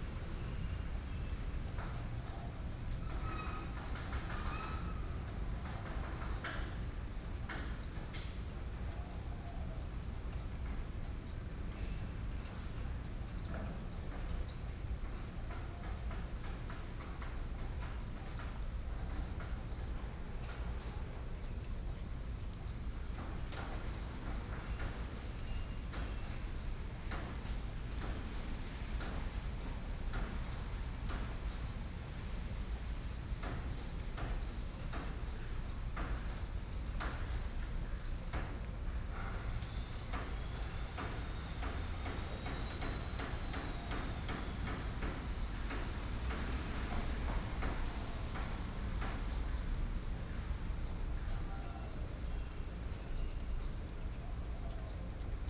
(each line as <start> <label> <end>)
19.8 Traffic Sound 54.2